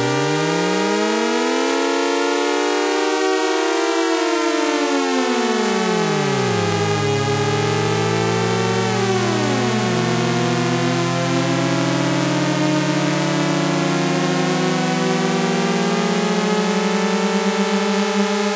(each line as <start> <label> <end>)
0.0 drone 18.5